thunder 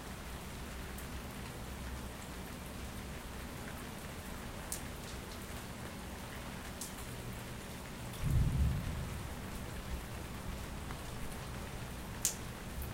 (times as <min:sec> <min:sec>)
0:08.2 0:09.4